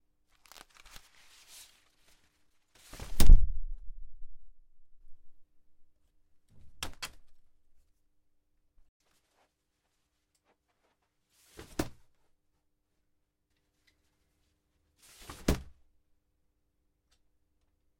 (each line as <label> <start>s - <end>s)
opening and closing an umbrella 0.3s - 3.8s
opening and closing an umbrella 11.5s - 12.1s
opening and closing an umbrella 15.2s - 15.8s